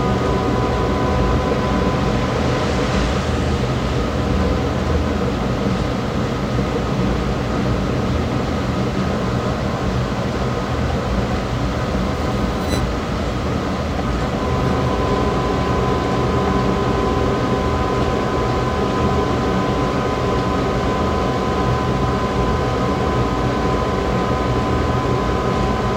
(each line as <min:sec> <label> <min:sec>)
0:00.0 metro 0:25.9